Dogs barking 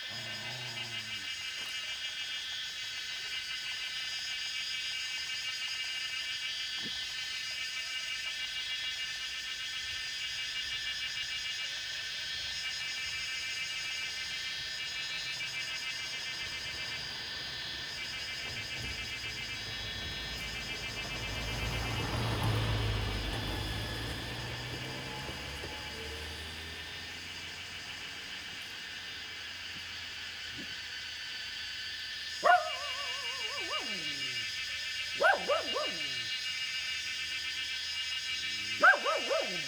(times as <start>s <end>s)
0.0s 1.4s, 32.3s 36.6s, 38.2s 39.6s